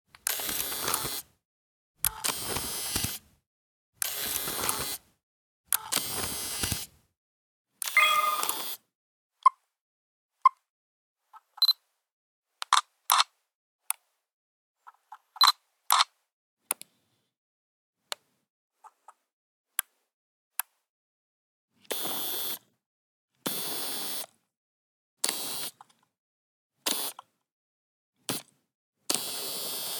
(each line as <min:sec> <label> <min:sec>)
0:00.2 shutter 0:01.3
0:00.2 zoom 0:01.3
0:00.2 digicam turning on and off 0:01.2
0:02.0 shutter 0:03.2
0:02.0 zoom 0:03.2
0:04.0 zoom 0:05.0
0:04.0 digicam turning on and off 0:05.0
0:04.0 shutter 0:05.0
0:05.7 shutter 0:06.9
0:05.7 zoom 0:06.9
0:07.8 zoom 0:08.8
0:07.9 digicam turning on and off 0:08.8